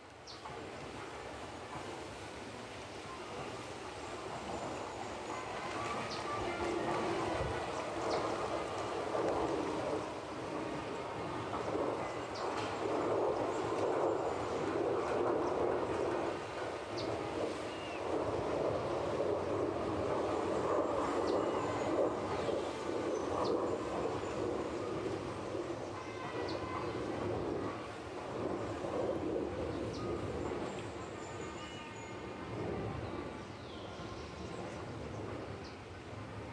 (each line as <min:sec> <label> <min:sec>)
0:00.0 wind breeze widing the trees 0:36.5
0:05.7 singing various species of birds 0:08.4